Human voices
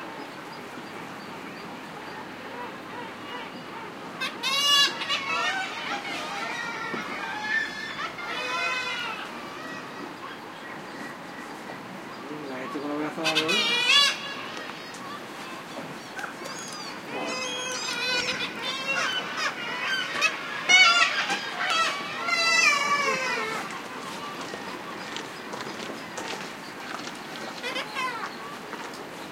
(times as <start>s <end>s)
21.8s 25.2s